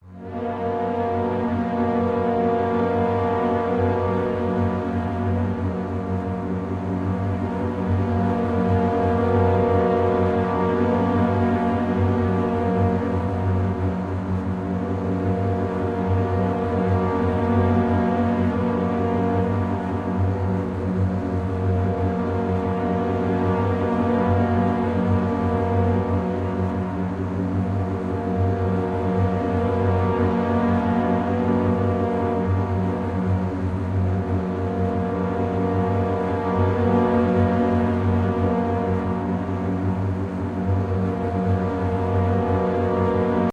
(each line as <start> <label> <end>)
0.0 synthesizer 43.5